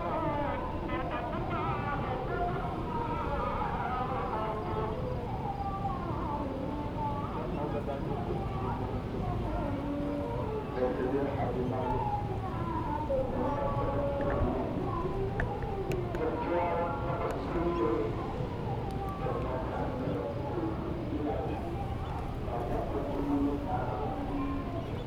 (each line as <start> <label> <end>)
0.0 breeze coming off the ocean 25.0
0.0 prayers from different mosques 25.0